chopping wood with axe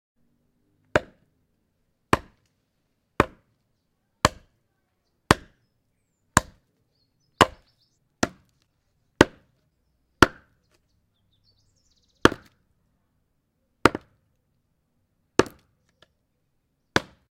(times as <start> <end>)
0.9 1.3, 2.1 2.5, 3.2 3.5, 4.2 4.6, 5.3 5.6, 6.4 6.6, 7.4 8.6, 9.2 9.6, 10.2 10.7, 12.2 12.6, 13.8 14.2, 15.4 16.0, 16.9 17.3